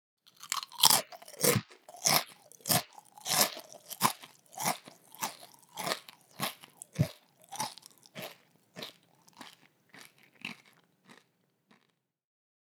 0.3s HummusChipsBite 11.9s
0.3s NormalChew 12.0s

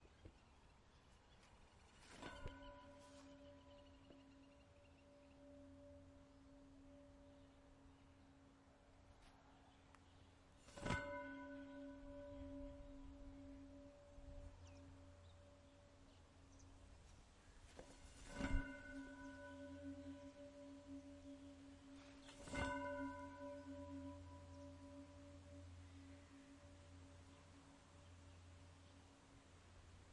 1.3s fence resonance 9.6s
10.5s fence resonance 28.8s

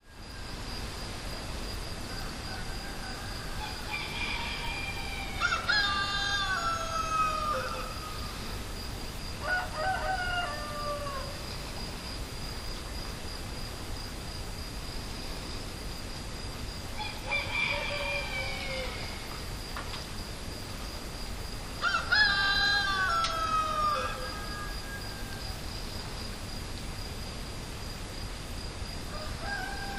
0.0s cicadas 29.9s
2.1s roosters 8.5s
9.4s roosters 11.4s
17.0s roosters 19.4s
21.8s roosters 25.6s
29.0s roosters 29.9s

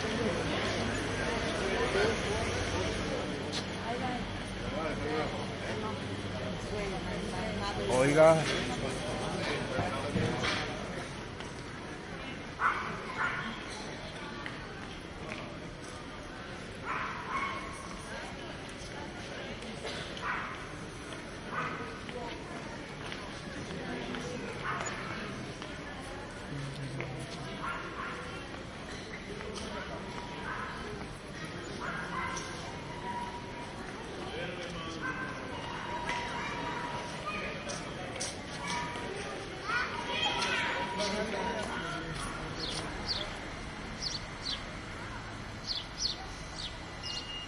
0.0s low traffic 47.4s
0.0s tourists chatting 47.4s
33.7s footsteps 43.2s
44.0s birds 44.7s
45.6s birds 47.4s

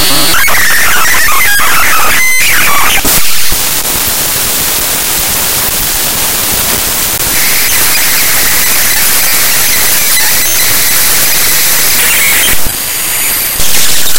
0.0s glitches 14.1s

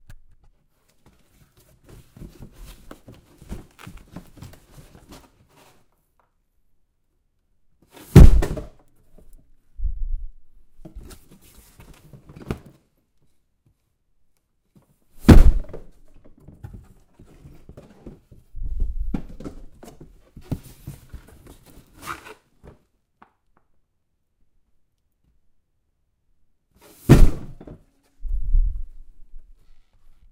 8.1s Dropping a cardboard box full of heavy things 8.8s
15.2s Dropping a cardboard box full of heavy things 15.9s
27.1s Dropping a cardboard box full of heavy things 27.8s

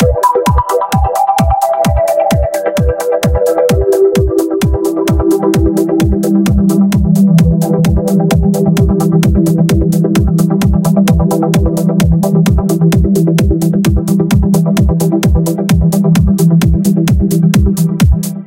0.0s melody 5.8s
0.0s bass 18.4s

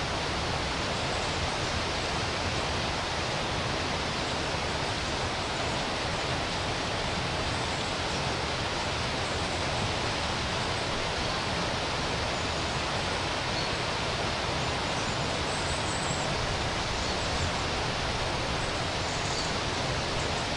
0.0s rapids 20.5s

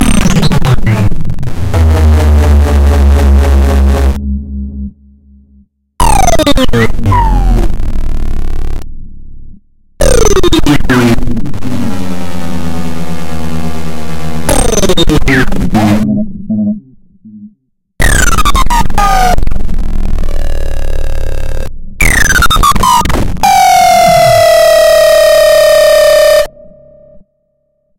1.5s synth sounds 8.8s
10.0s synth sounds 19.3s
20.0s synth sounds 27.3s

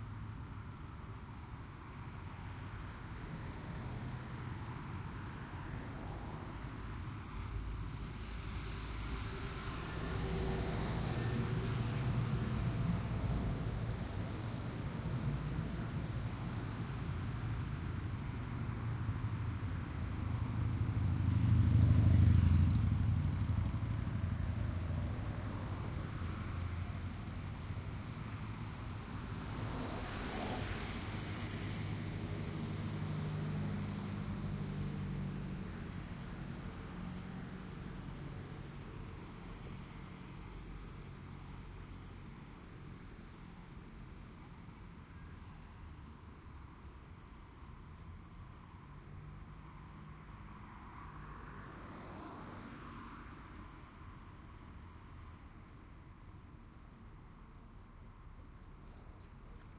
0.0s Traffic 59.7s

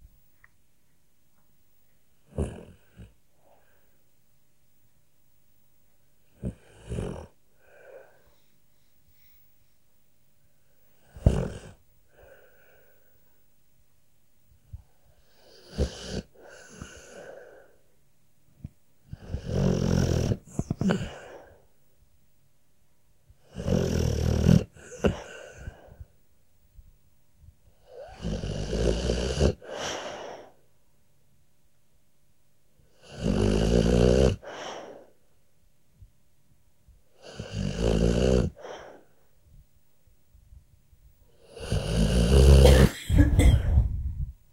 2.2s dog snoring 3.7s
6.3s dog snoring 8.2s
11.0s dog snoring 12.6s
15.2s dog snoring 17.7s
19.1s dog snoring 21.5s
23.4s dog snoring 26.0s
27.8s dog snoring 30.5s
32.9s dog snoring 35.1s
37.1s dog snoring 39.1s
41.3s dog snoring 42.8s

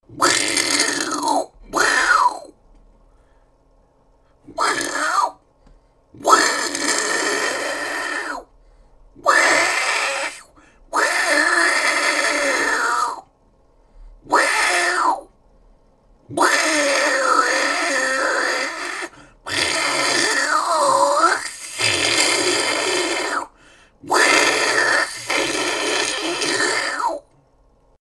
0.1s angry cat 2.6s
4.5s angry cat 5.4s
6.2s angry cat 8.5s
9.2s angry cat 13.3s
14.3s angry cat 15.3s
16.3s angry cat 27.3s

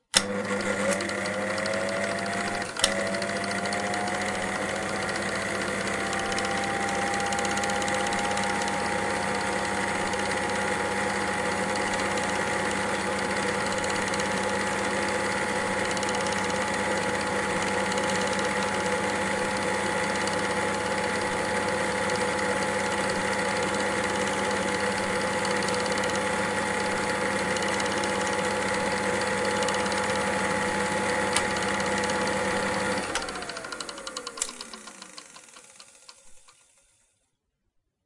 0.0s Projector 37.1s

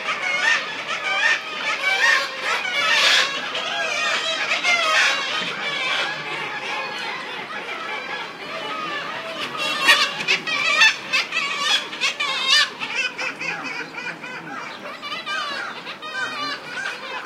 0.0s Harsh, shrill cry of seagulls 17.2s
0.0s ocean 17.2s
2.2s Human voices 17.2s

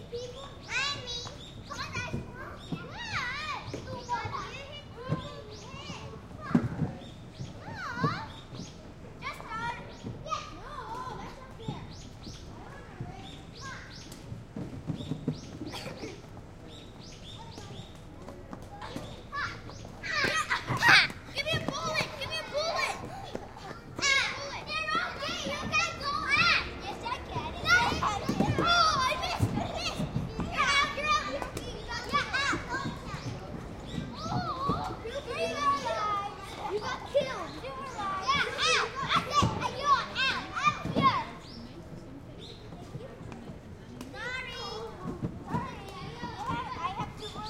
0.0s children playing 47.4s

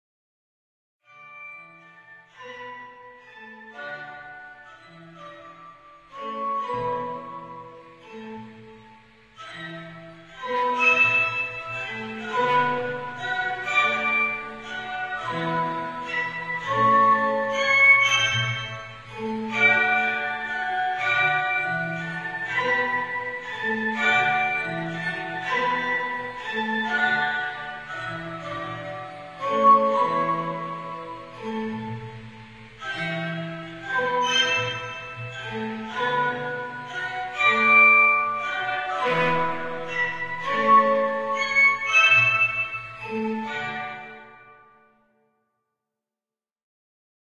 1.1s Music Box 44.8s

